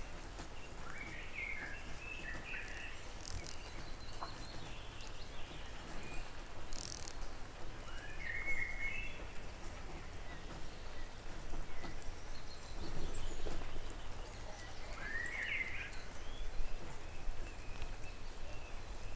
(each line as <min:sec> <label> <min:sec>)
0:02.2 insect beating its wing on a wooden plank 0:07.6